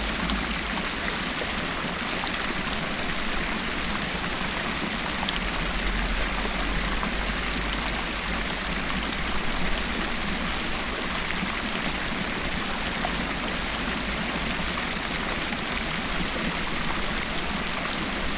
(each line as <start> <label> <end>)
0.0 small classical fountain 18.3